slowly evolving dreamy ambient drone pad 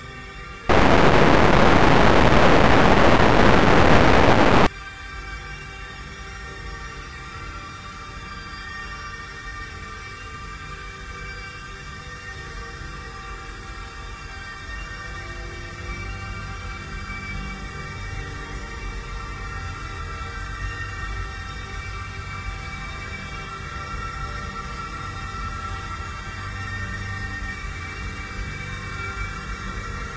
0.7 4.7

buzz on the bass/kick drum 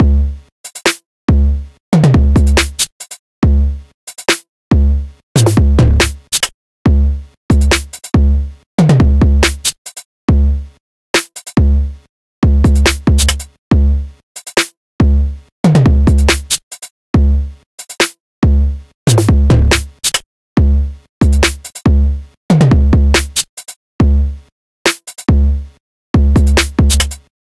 0.0 0.4, 1.3 2.8, 3.4 3.8, 4.7 6.3, 6.9 9.6, 10.3 10.6, 11.6 14.1, 15.0 16.5, 17.2 17.5, 18.4 20.0, 20.6 23.4, 24.0 24.4, 26.2 27.2

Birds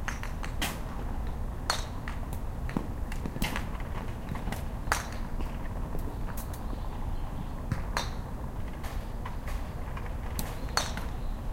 10.4 11.5

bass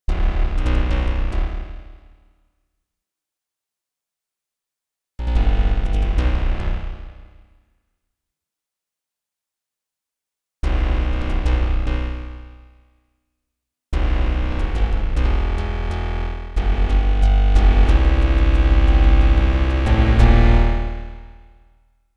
0.0 2.1, 5.2 7.5, 10.6 12.6, 14.0 21.7

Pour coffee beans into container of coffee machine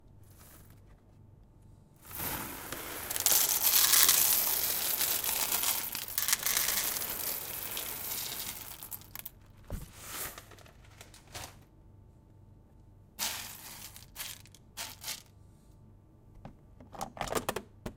2.1 9.3

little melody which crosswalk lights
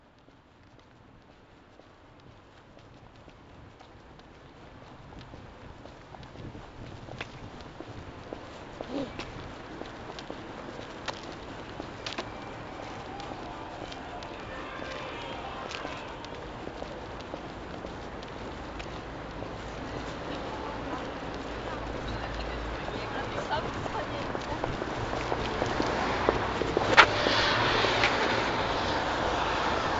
6.7 29.9

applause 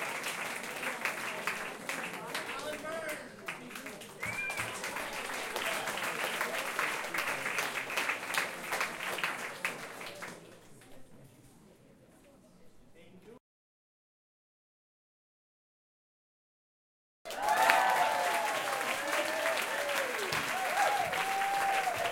0.0 11.0, 17.3 22.1

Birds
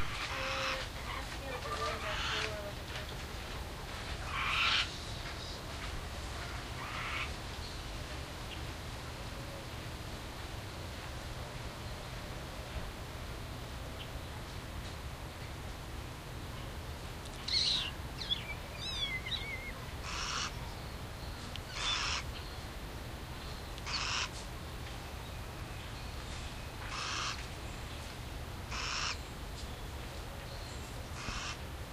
0.0 10.0, 16.4 31.8

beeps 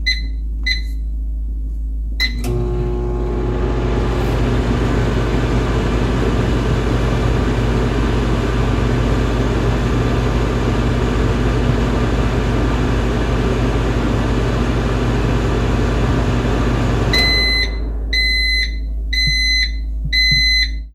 0.0 1.0, 17.1 20.9

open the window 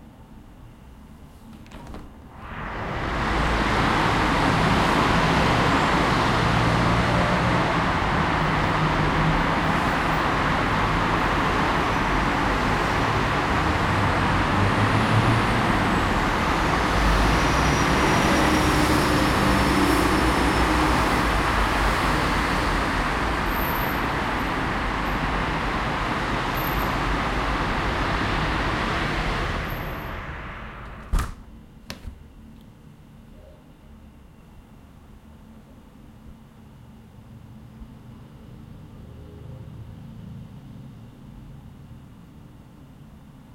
1.1 32.6

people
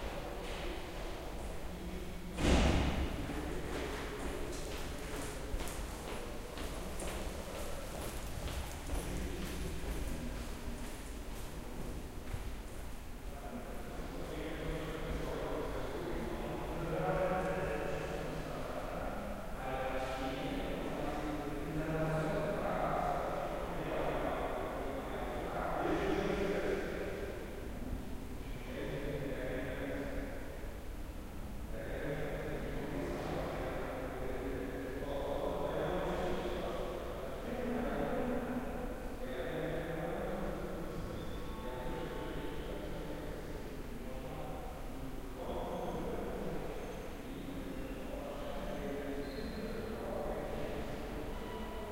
13.2 30.5, 31.7 51.9

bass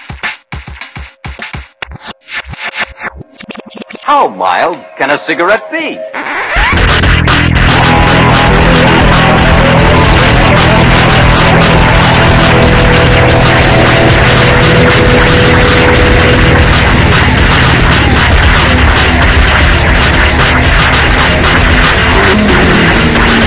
6.5 23.4

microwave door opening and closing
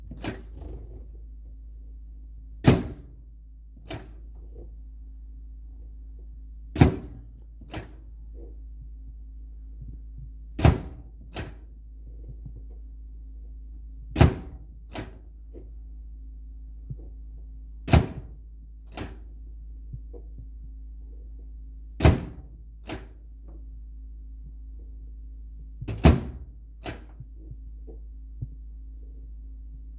25.9 27.1

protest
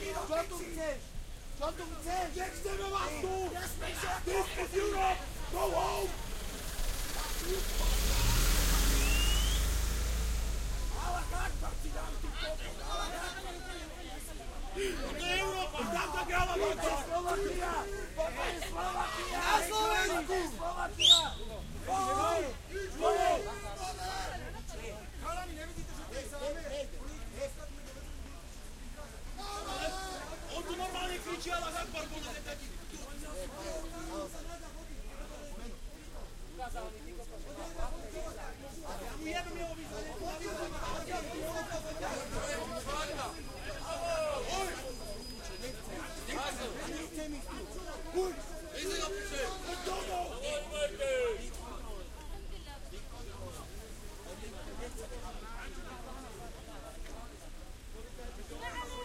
0.0 36.5

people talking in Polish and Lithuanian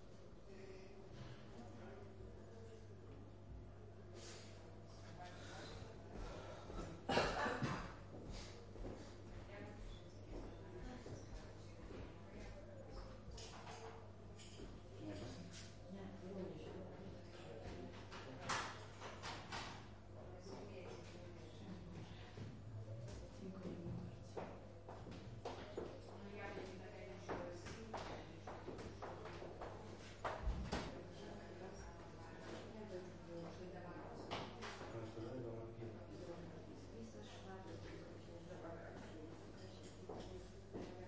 25.4 41.0

